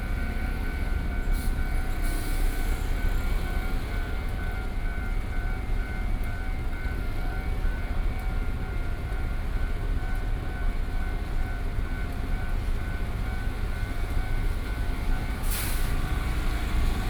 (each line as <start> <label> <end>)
0.0 Railroad crossing 17.0
0.0 Train traveling through 17.0